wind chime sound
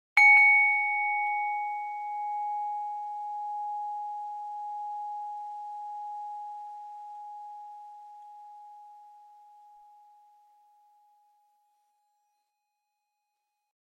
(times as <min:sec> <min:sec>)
0:00.2 0:07.5